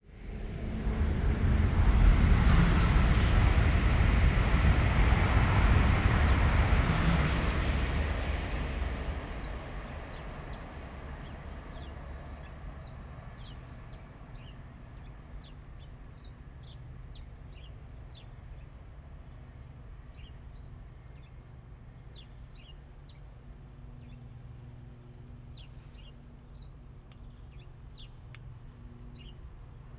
train 0.0 - 29.9
car 0.0 - 8.3

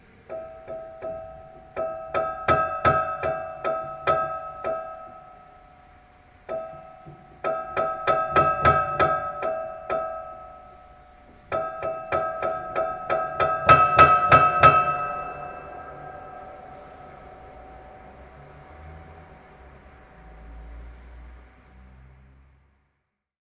Detuned Piano Stabs 0.0 - 21.7

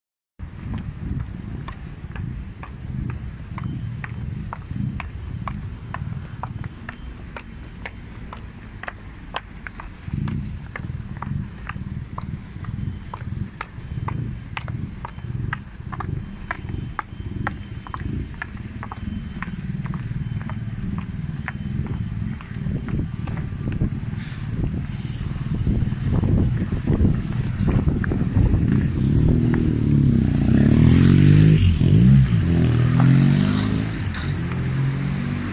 traffic 0.4 - 35.5

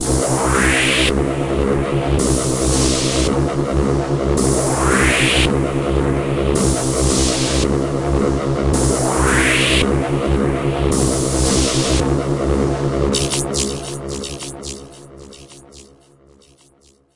(com)pressing sound with some white noise that flies by 13.1 - 17.0

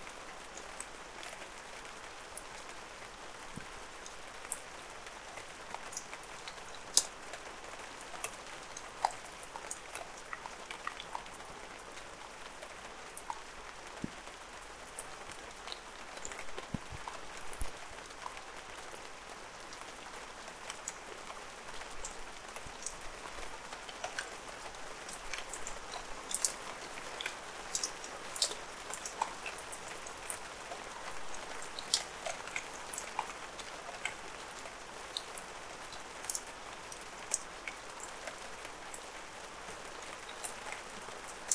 Light rain 0.0 - 41.5

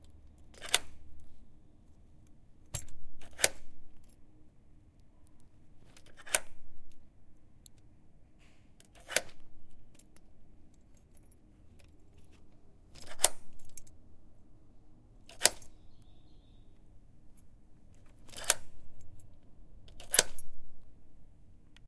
locking and unlocking door 0.0 - 1.4
locking and unlocking door 2.7 - 4.2
locking and unlocking door 5.2 - 7.1
locking and unlocking door 8.5 - 13.9
locking and unlocking door 15.3 - 16.1
locking and unlocking door 18.0 - 20.8

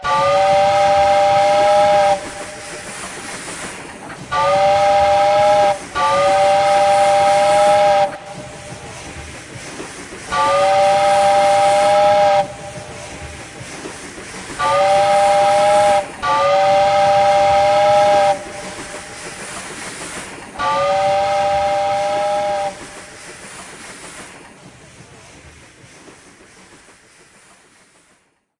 train whistle 0.0 - 2.5
train whistle 4.3 - 8.5
train whistle 10.3 - 12.9
train whistle 14.6 - 18.9
train whistle 20.6 - 22.9

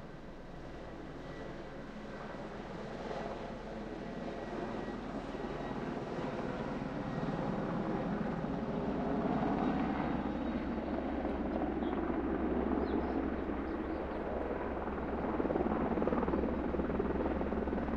helicopter landing on the field nearby 0.0 - 17.9

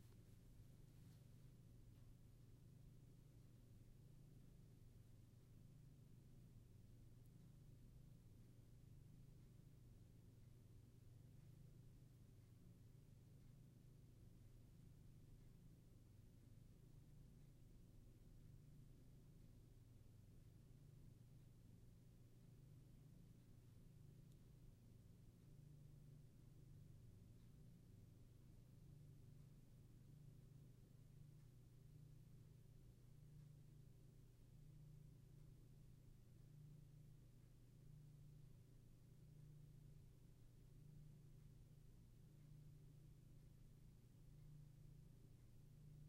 Room Noise 0.0 - 46.0

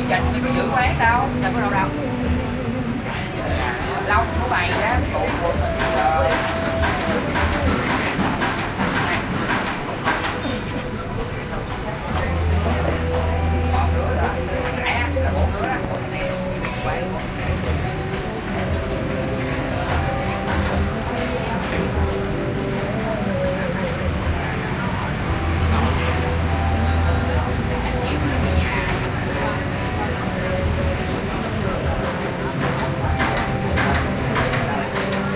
Vietnamese voices 0.0 - 35.3
construction site in the background 0.0 - 35.3
music from loudspeakers 0.0 - 35.3
traffic 0.0 - 35.3

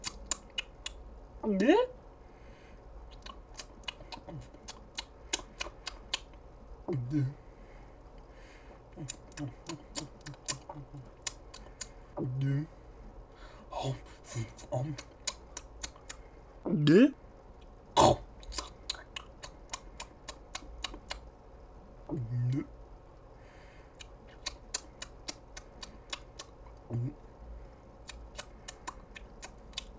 Cartoon chewing 0.0 - 1.0
Cartoon chewing 3.1 - 7.4
gulping 3.1 - 6.3
gulping 6.9 - 7.4
Cartoon chewing 8.8 - 12.8
gulping 8.9 - 12.8
gulping 13.4 - 17.2
Cartoon chewing 13.4 - 21.3
gulping 18.0 - 21.2
gulping 22.1 - 22.7
Cartoon chewing 23.9 - 27.2
gulping 24.0 - 27.2
Cartoon chewing 28.0 - 29.9

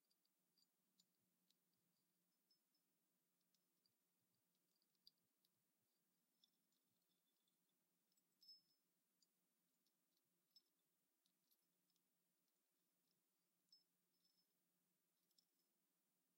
gentle tinkling bells 0.0 - 16.3

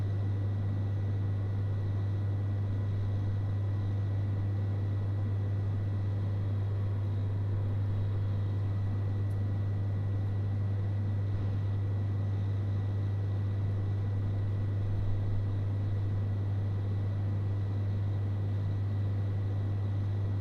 coffee vending machine 0.0 - 1.0

